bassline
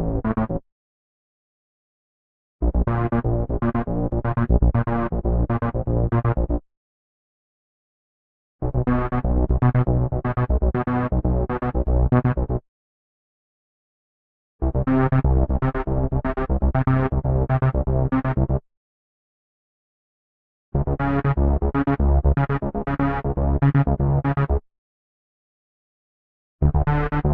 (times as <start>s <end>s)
0.0s 0.6s, 2.6s 6.6s, 8.6s 12.6s, 14.6s 18.6s, 20.8s 24.6s, 26.6s 27.3s